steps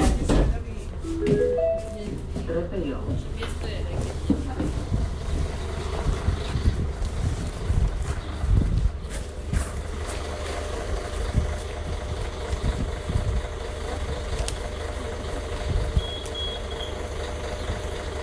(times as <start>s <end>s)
0.0s 10.6s